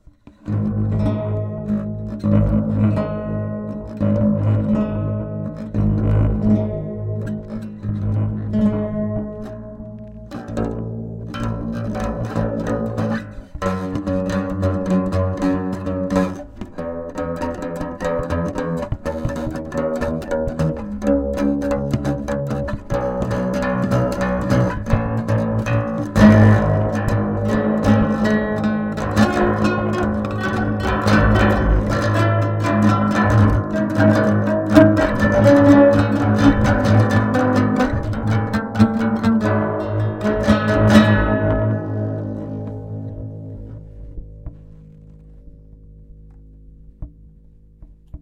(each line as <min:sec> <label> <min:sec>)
0:00.0 guitar 0:48.2